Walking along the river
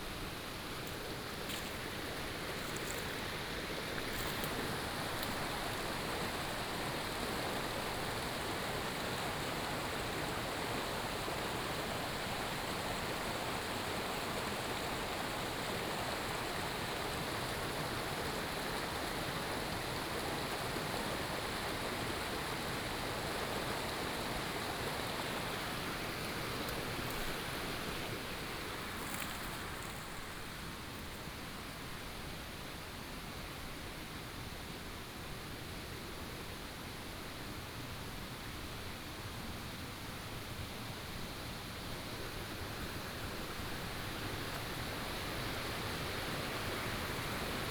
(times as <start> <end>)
0.0 10.3, 24.3 31.5, 41.8 47.7